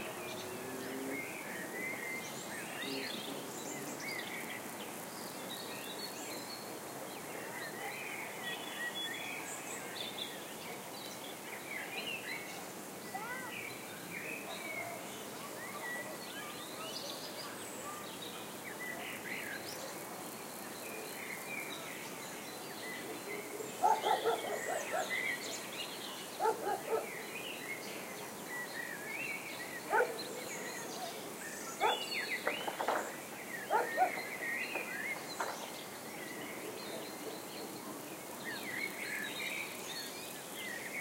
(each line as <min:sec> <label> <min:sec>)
0:00.0 birds 0:41.0
0:00.0 crickets sing 0:41.0
0:13.0 children play 0:13.7
0:23.8 dog barks 0:25.1
0:26.4 dog barks 0:27.1
0:29.9 dog barks 0:30.2
0:33.7 dog barks 0:34.2